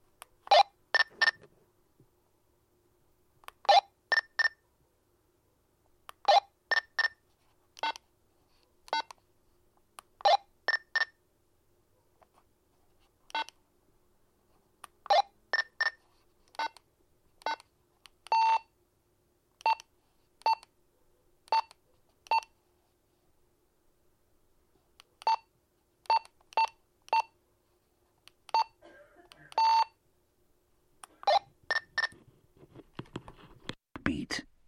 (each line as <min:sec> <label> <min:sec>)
0:29.6 beeps 0:29.9